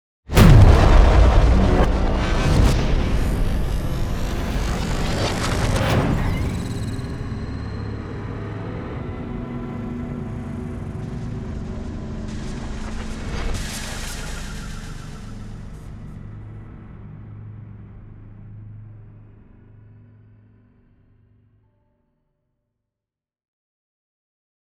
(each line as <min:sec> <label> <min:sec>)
0:00.3 Impact 0:07.4